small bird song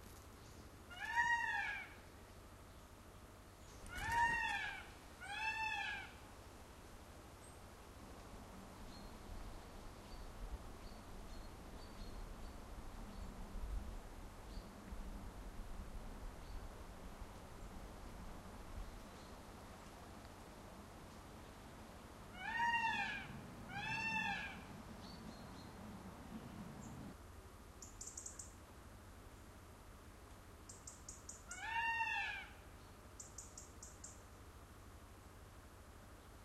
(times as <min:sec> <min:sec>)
0:00.2 0:00.8, 0:02.1 0:04.1, 0:08.8 0:13.8, 0:14.4 0:14.8, 0:18.8 0:19.5, 0:25.0 0:25.8, 0:27.8 0:28.6, 0:30.6 0:31.6, 0:32.7 0:34.4